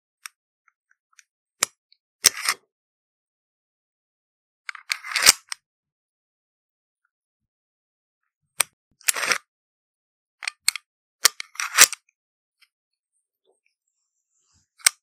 1.2s Magazine reloading of a small pocket pistol 2.6s
4.7s Magazine reloading of a small pocket pistol 5.6s
8.6s Magazine reloading of a small pocket pistol 9.4s
10.4s Magazine reloading of a small pocket pistol 12.0s
14.8s Magazine reloading of a small pocket pistol 15.0s

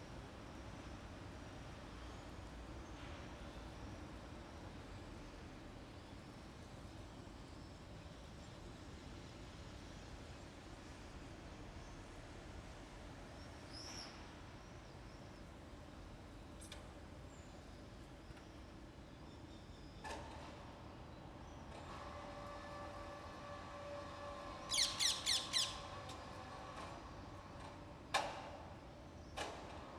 0.0s General rumble of the city 29.9s
21.6s movements of the crane 24.6s
25.8s movements of the crane 29.9s

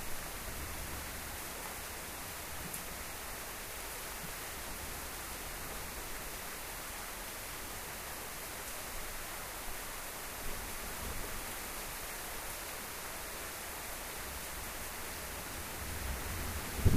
16.6s thunder 16.9s

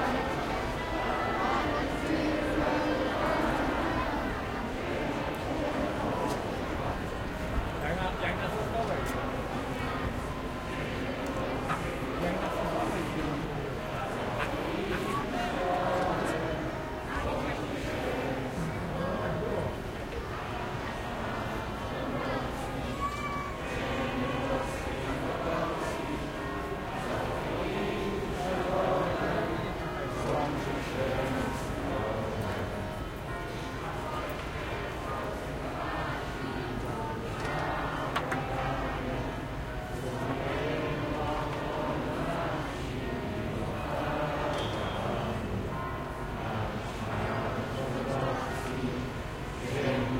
0.0s anthem 50.1s
0.0s crowd 50.1s

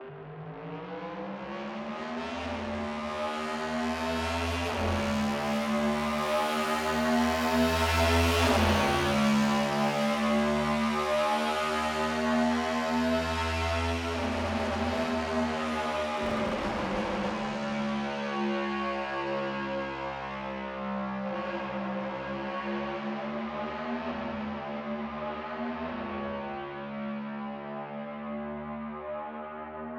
16.2s Revving engine at a distance 18.1s

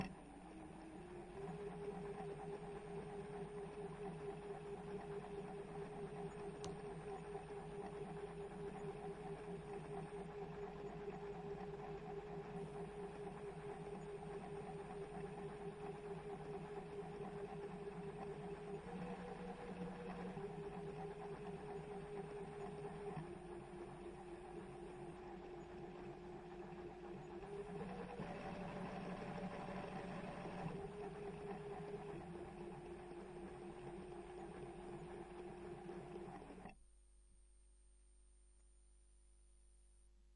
0.0s machine à coudre 36.8s

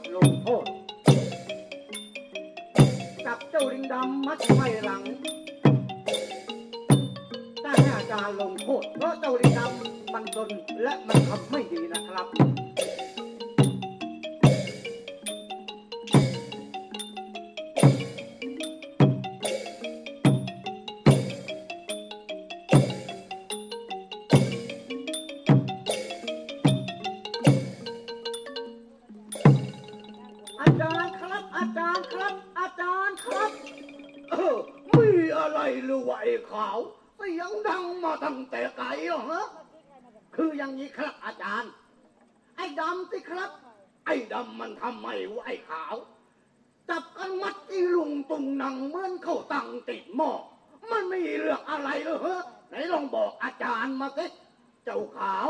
0.0s percussion 36.0s

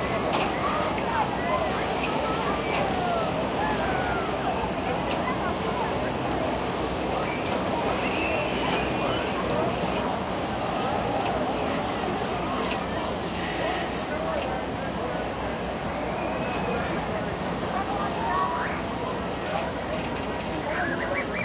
0.0s crowd walla 21.4s

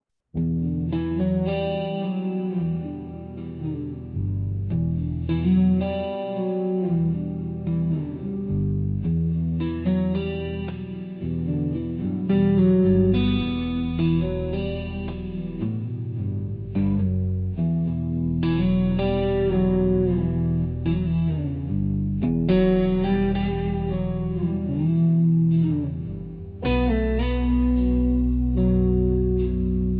0.0s guitar 29.9s

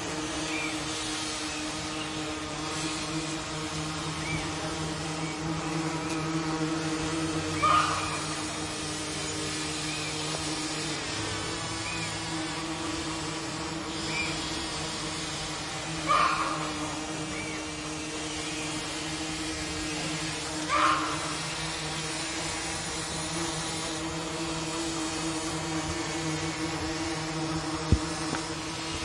0.0s bees 29.0s
0.3s birds 2.6s
4.0s birds 6.5s
7.4s birds 10.5s
7.6s goose 8.2s
11.6s birds 12.6s
13.9s birds 14.8s
16.0s birds 19.0s
16.1s goose 16.7s
16.1s hens 16.7s
19.8s birds 21.7s
20.7s goose 21.3s

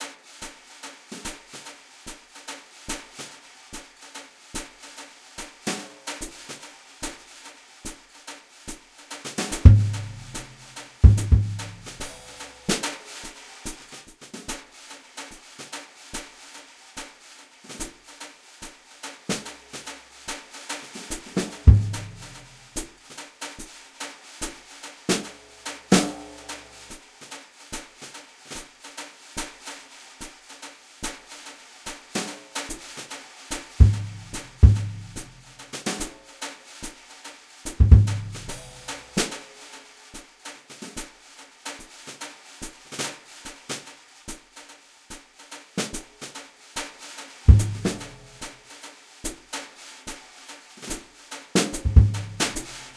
9.5s Jazz brush-loop 12.5s
21.2s Jazz brush-loop 22.8s
33.8s Jazz brush-loop 35.7s
37.8s Jazz brush-loop 39.3s
47.5s Jazz brush-loop 48.5s
51.7s Jazz brush-loop 52.9s

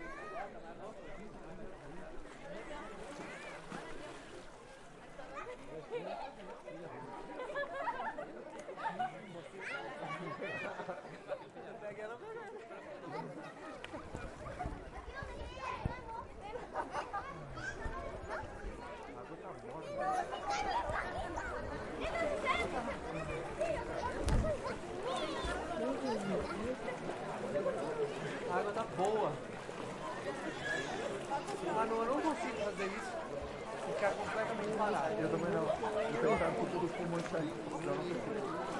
0.0s Water 38.7s
2.2s Splash 4.9s
5.4s People enjoying 11.8s
13.1s People enjoying 18.8s
19.8s People enjoying 38.7s
20.5s Splash 38.7s

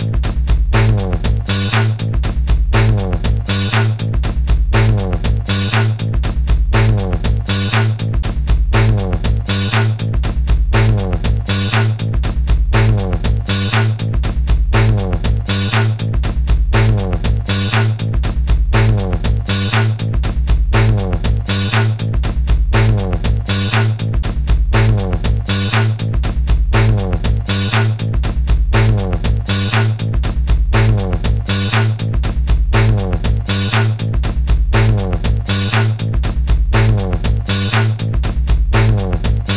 0.0s bass 39.5s
0.0s drums 39.5s

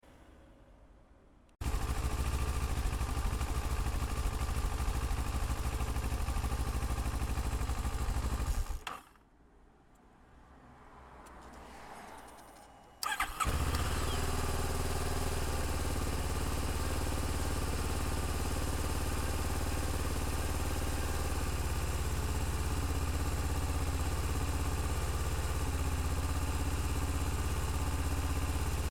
1.6s Engine Work (Start / Stop) 9.2s
11.2s Engine Work (Start / Stop) 28.9s

